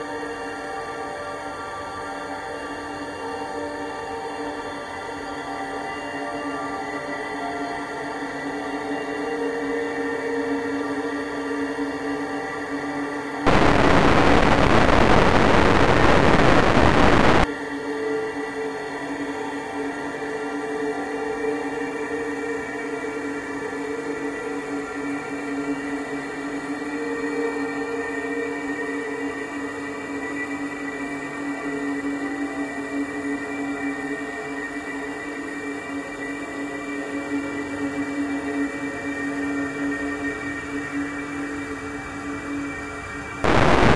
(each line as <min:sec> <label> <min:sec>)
0:00.0 slowly evolving dreamy ambient drone pad 0:43.9
0:13.5 heavily reverberated distortion 0:17.5
0:43.5 heavily reverberated distortion 0:43.9